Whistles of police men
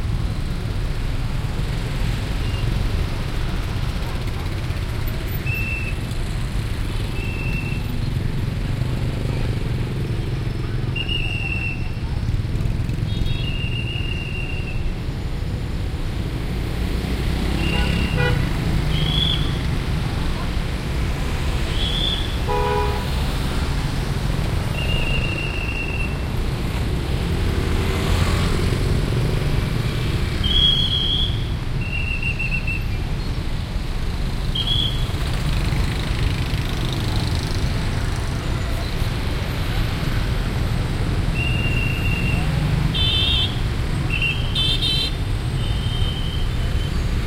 7.2 7.9, 11.0 12.0, 13.4 14.9, 18.9 19.6, 21.7 22.4, 24.7 26.2, 30.4 33.0, 34.5 35.1, 41.3 42.5

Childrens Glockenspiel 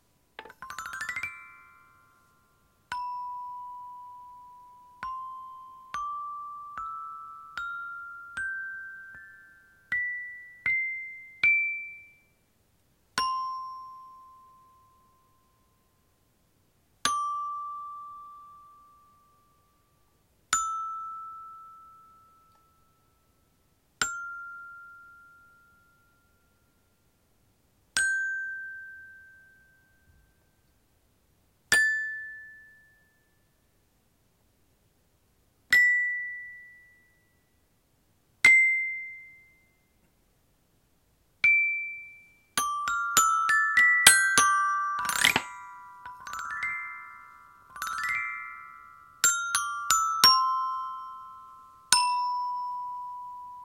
0.4 12.4, 13.2 16.1, 17.1 27.2, 28.0 30.6, 41.4 53.6

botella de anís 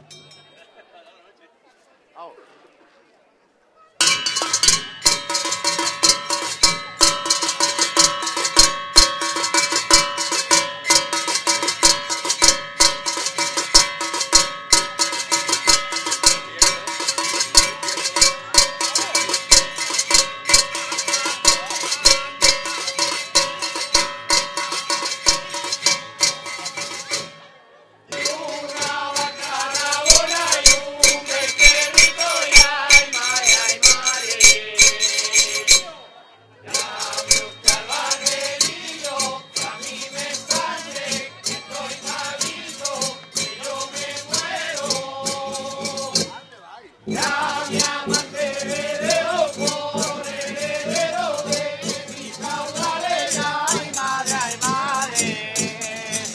28.1 36.1

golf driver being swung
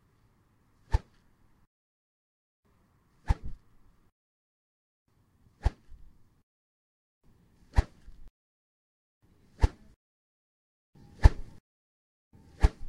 0.9 1.2, 3.2 3.6, 5.6 6.1, 7.7 8.3, 9.6 10.0, 11.2 11.6, 12.6 12.8

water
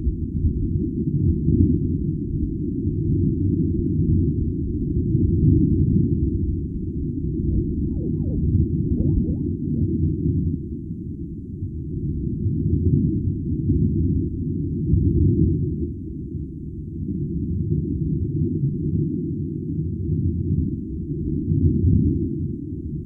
7.8 9.6

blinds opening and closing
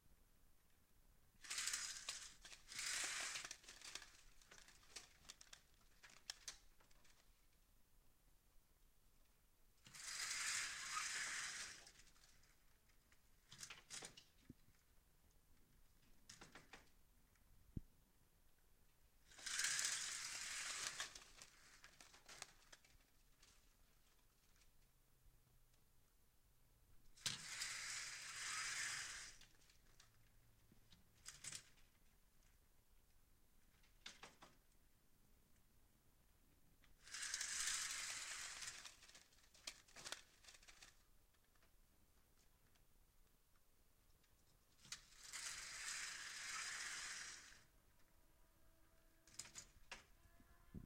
1.4 6.5, 9.9 12.1, 19.3 22.8, 27.2 29.6, 37.1 40.9, 49.3 50.1

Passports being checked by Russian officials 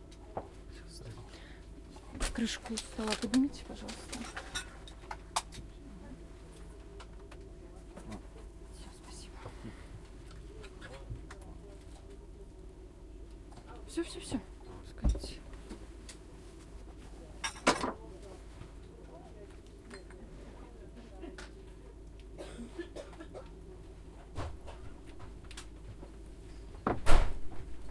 2.2 5.8

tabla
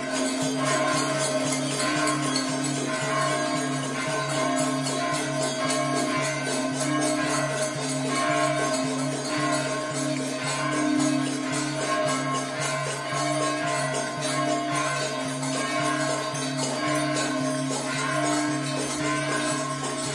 13.6 20.1

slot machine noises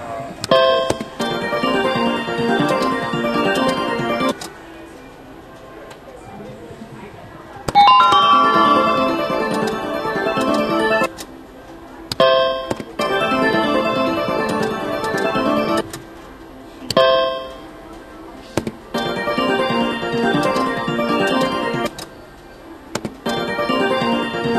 0.8 4.4, 7.8 11.2, 13.0 15.9, 19.0 21.9, 23.3 24.5

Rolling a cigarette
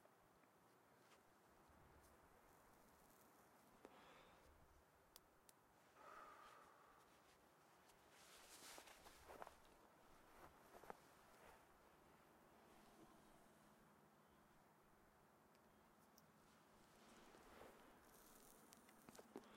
16.0 19.5

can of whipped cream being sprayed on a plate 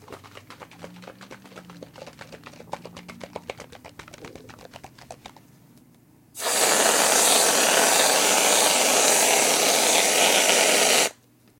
6.4 11.2

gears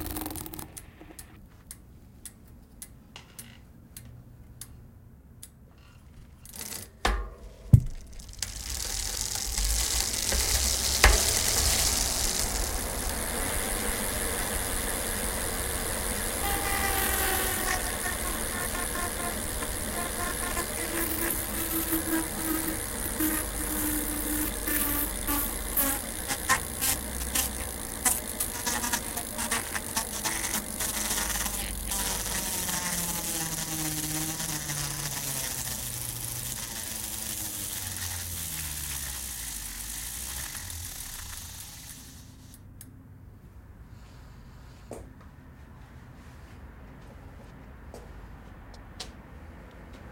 0.0 1.4, 5.9 42.7

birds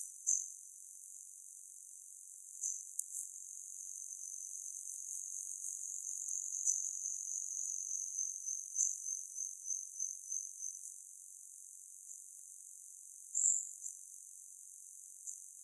0.0 0.6, 2.5 11.0, 13.3 14.2

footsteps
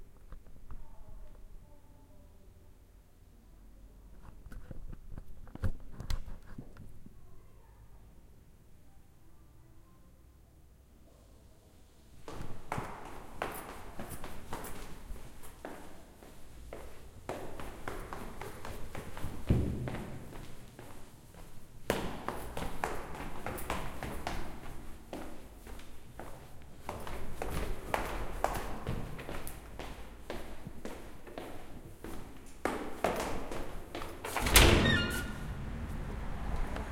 12.3 36.9

